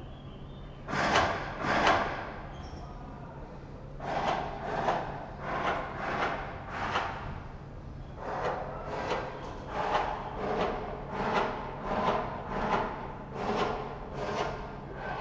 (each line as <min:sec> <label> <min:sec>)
0:04.0 echoes of tools 0:15.2